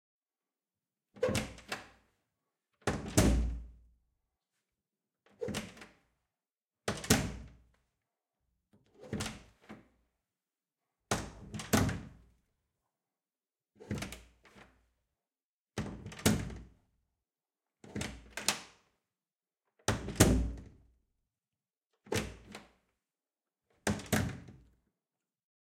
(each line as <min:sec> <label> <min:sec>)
0:01.2 Opening and closing an old wooden kitchen door 0:01.9
0:15.8 Opening and closing an old wooden kitchen door 0:16.7
0:19.9 Opening and closing an old wooden kitchen door 0:20.8
0:23.8 Opening and closing an old wooden kitchen door 0:24.6